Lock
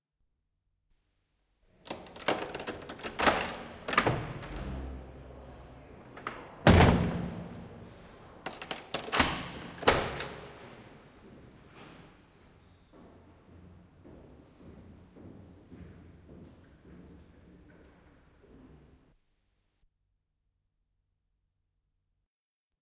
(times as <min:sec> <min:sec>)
0:01.8 0:04.6, 0:08.4 0:10.6